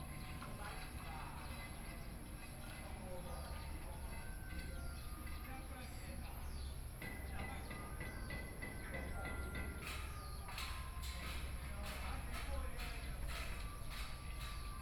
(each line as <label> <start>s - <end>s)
Birdsong sound 0.0s - 14.8s
Garbage Truck 0.0s - 14.8s
Sound from Builders Construction 4.5s - 14.8s